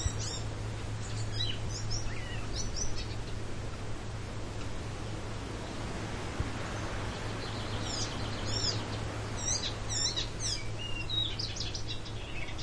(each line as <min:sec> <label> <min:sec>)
0:00.0 bird was singing 0:03.4
0:00.0 wind 0:12.6
0:07.1 bird was singing 0:12.6